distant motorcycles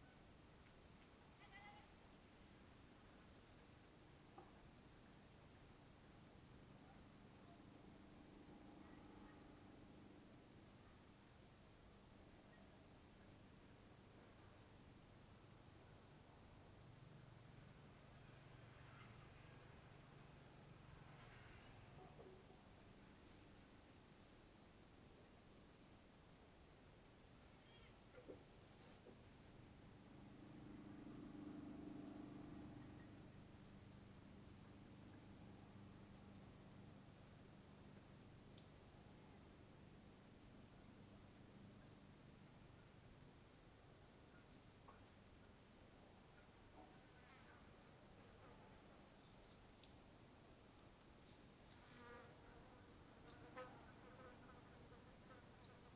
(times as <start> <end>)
29.1 37.4